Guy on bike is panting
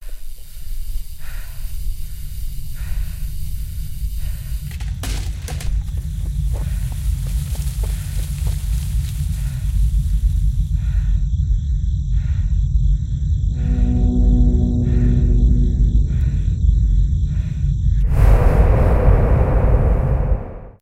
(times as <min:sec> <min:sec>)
0:00.0 0:05.1, 0:09.3 0:13.1